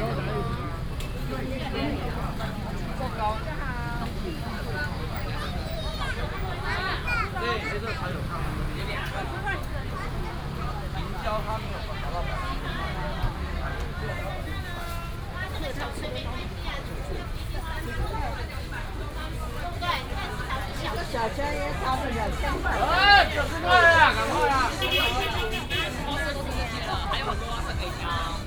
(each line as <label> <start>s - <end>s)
vendors peddling 0.0s - 28.4s